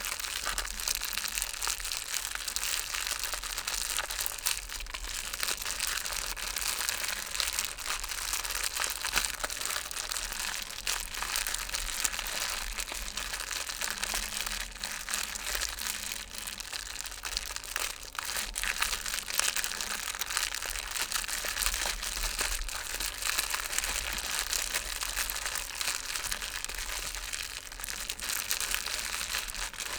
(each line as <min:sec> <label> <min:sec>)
0:00.0 Small fire crackling 0:29.9